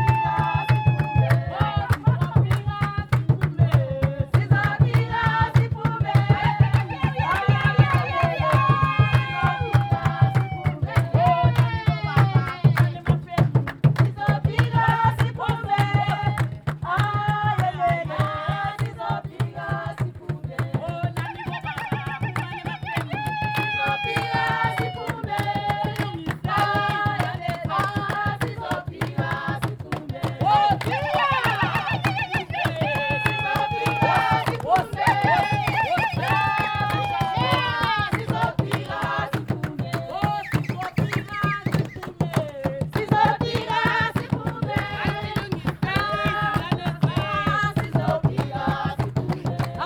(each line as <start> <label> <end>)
0.0 Kalanga dance 49.8
15.8 youth group next-door playing music 49.8